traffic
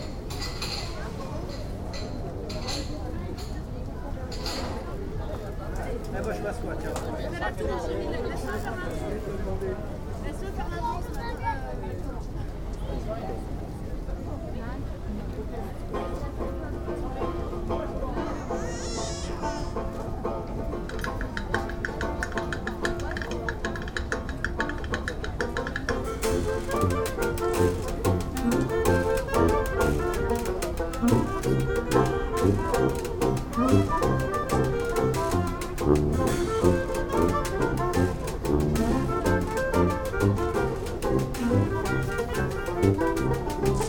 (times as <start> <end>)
27.1 34.0